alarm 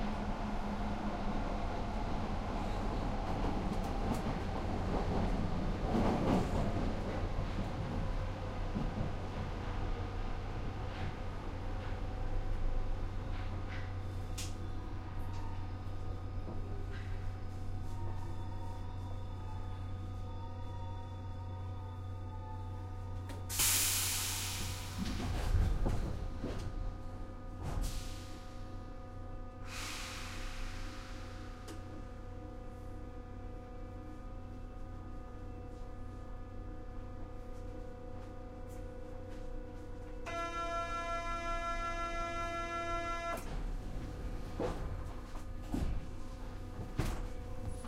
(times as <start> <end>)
40.3 43.4